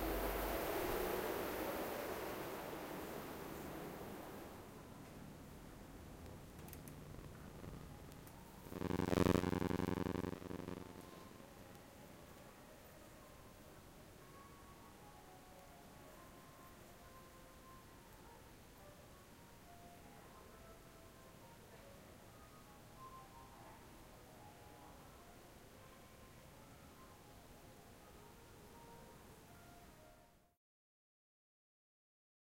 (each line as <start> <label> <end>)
6.0 Noise of FR sensor interfering with microphones 11.8